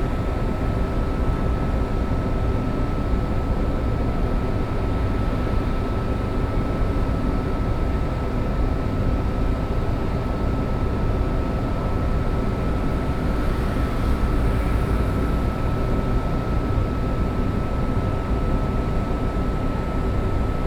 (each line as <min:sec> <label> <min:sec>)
0:00.0 Building air conditioning noise 0:20.6